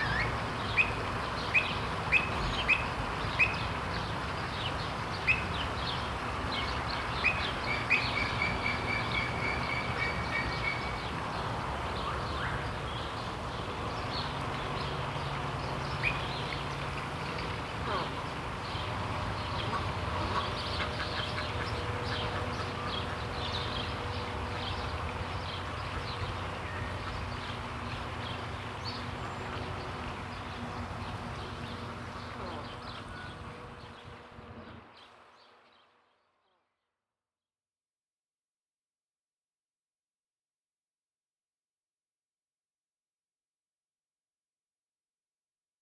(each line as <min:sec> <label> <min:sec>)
0:31.4 bird voices 0:34.2